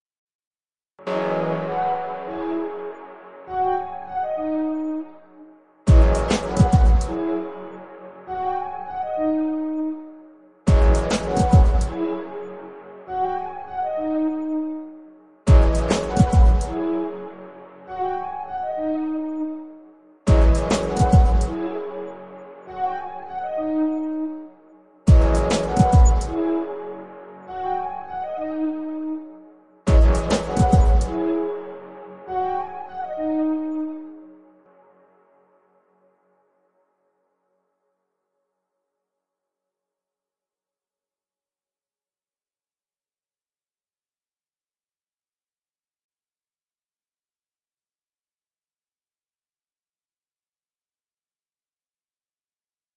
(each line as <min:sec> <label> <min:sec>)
0:05.9 drum beat 0:07.1
0:10.7 drum beat 0:11.9
0:15.5 drum beat 0:16.7
0:20.3 drum beat 0:21.5
0:25.1 drum beat 0:26.3
0:29.9 drum beat 0:31.1